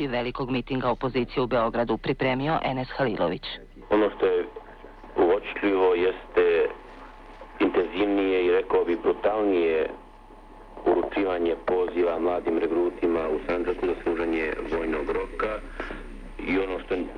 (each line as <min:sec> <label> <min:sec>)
0:02.9 Radio 0:17.1